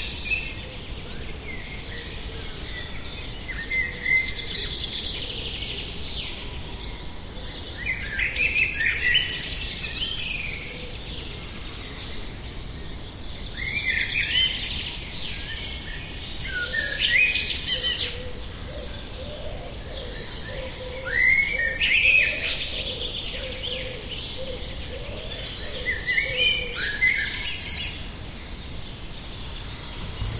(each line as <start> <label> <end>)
0.0 noisy birds 30.3